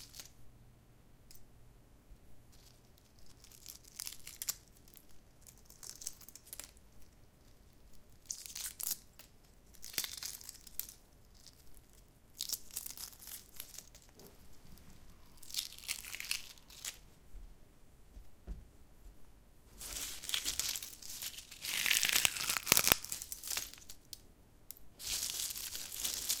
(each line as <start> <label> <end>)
20.1 Peeling Cooked Egg 24.1